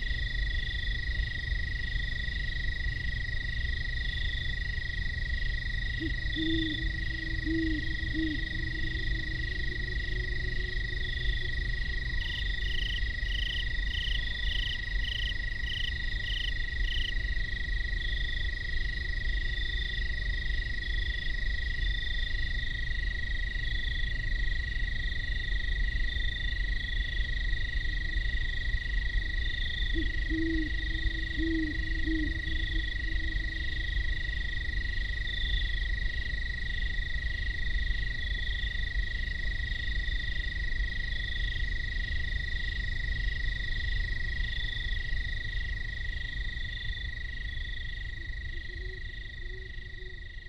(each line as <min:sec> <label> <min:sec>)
0:00.0 industrial sand plant drones discreetly in the distance 0:50.4
0:00.0 insect chatter 0:50.4
0:03.6 great horned owls signify territories 0:15.6
0:29.8 great horned owls signify territories 0:35.0